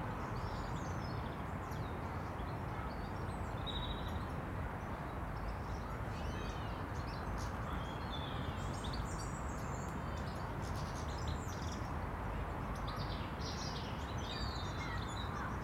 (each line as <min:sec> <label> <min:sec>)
0:00.0 Small birds move through the trees and bushes 0:15.6
0:00.0 traffic noise 0:15.6